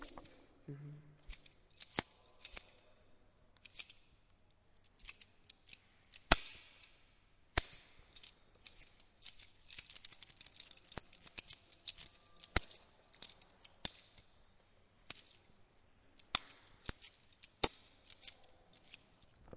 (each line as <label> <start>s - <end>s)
shaking keys 0.0s - 0.5s
shaking keys 16.2s - 19.4s